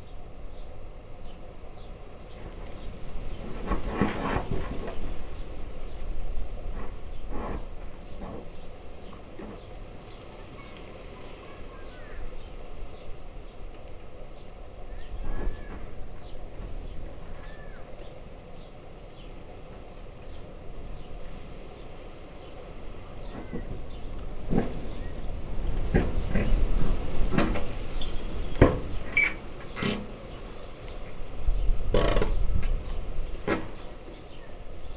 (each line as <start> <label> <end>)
2.4 branch scratching a metal sheet gutter on the roof 10.2
10.4 kids playing 12.4
14.9 branch scratching a metal sheet gutter on the roof 18.2
23.2 branch scratching a metal sheet gutter on the roof 34.6